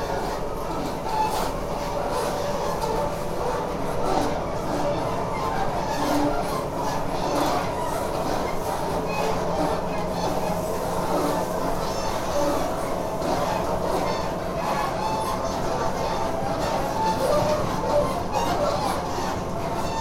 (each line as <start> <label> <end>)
0.0 train 20.0